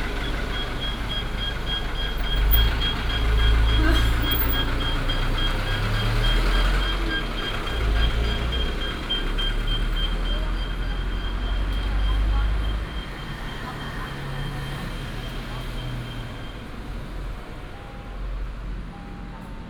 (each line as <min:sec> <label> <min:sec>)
0:00.0 Traffic sound 0:19.6